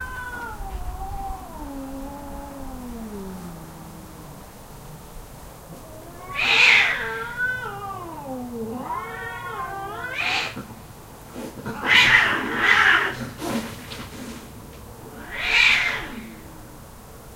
Cats Fighting 0.0 - 16.7
hiss 11.2 - 14.6

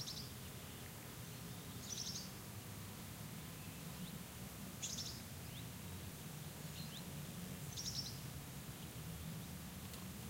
birds singing 0.0 - 2.4
birds singing 4.8 - 5.7
birds singing 6.6 - 7.1
birds singing 7.7 - 9.0

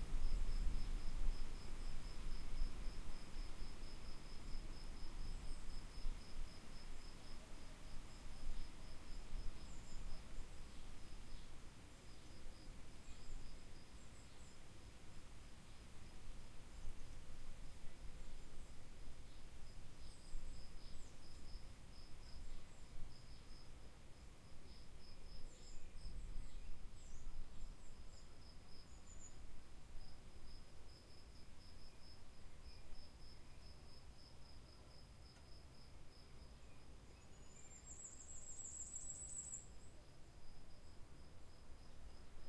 trees 0.0 - 42.4

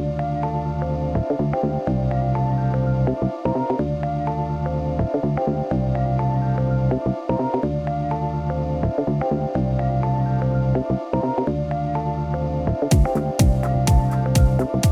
Jingles and Beats music 12.8 - 14.9

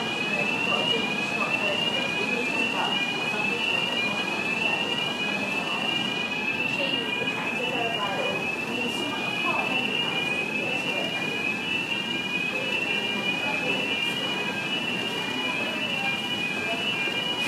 Station Alarm 0.0 - 17.4

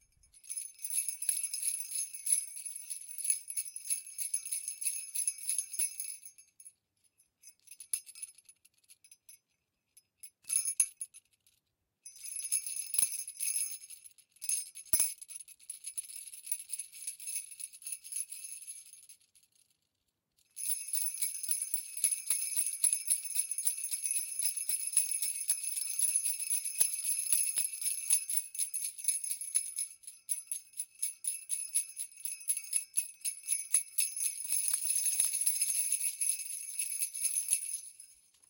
Jingle Bells 0.0 - 9.4
Jingle Bells 12.0 - 19.1
Jingle Bells 20.5 - 38.4

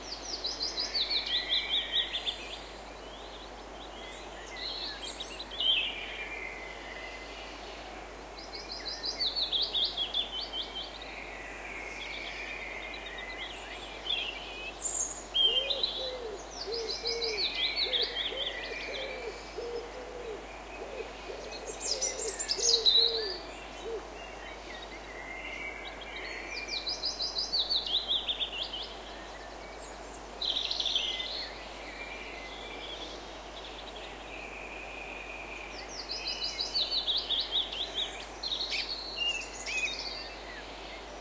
birdsong 8.3 - 41.2

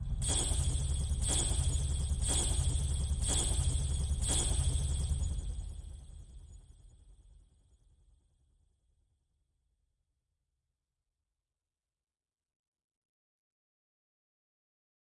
flight sound 0.0 - 6.4

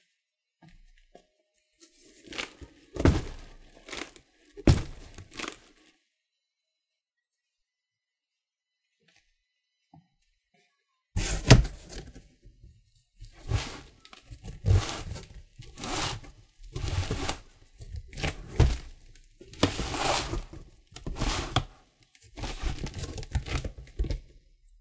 dragging a cardboard box with some dumbbells inside 11.2 - 12.1
dragging a cardboard box with some dumbbells inside 13.2 - 21.7
dragging a cardboard box with some dumbbells inside 22.4 - 23.6

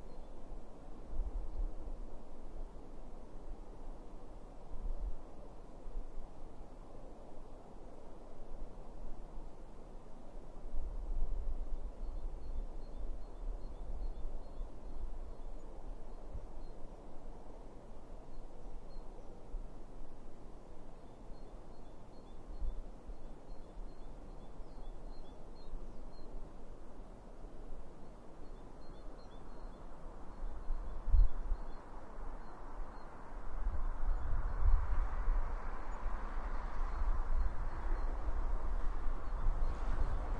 wind rumble 34.0 - 40.3

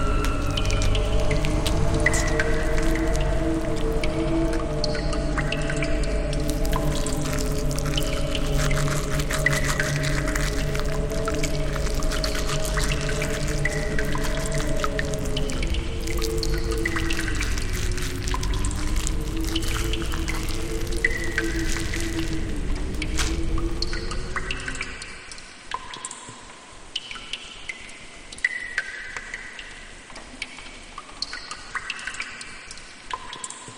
howling wind 0.0 - 25.1
dripping 0.0 - 25.6

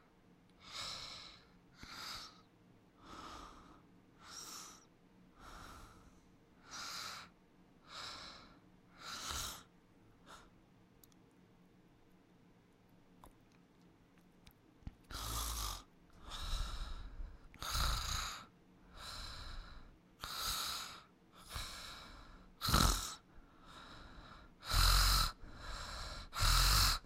woman snores and snorts whilst sleeping 6.6 - 7.3
woman snores and snorts whilst sleeping 8.0 - 9.7
woman snores and snorts whilst sleeping 15.1 - 27.0

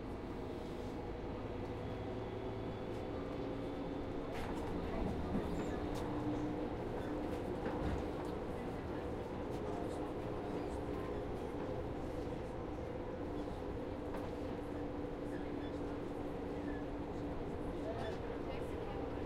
noise from the tracks 0.0 - 19.2
tram stops and starts again 0.0 - 19.2
people are talking 16.9 - 19.2

